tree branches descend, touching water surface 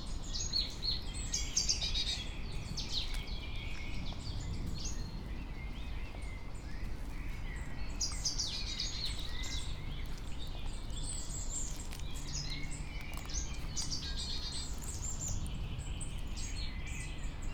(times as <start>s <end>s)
8.6s 16.4s